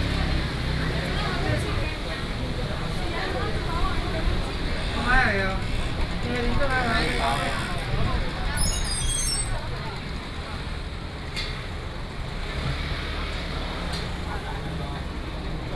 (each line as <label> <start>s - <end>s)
market selling voice 0.0s - 11.0s
Traffic sound 0.0s - 15.7s
Walking through the market 0.0s - 15.7s